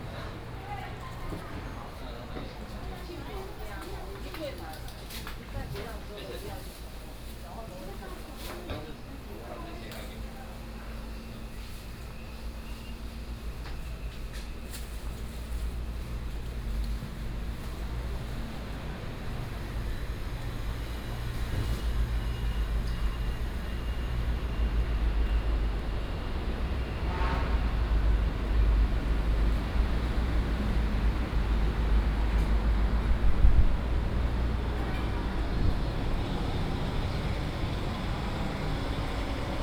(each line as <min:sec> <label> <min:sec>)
0:00.0 Walking in the traditional market 0:39.6
0:16.2 traffic sound 0:39.6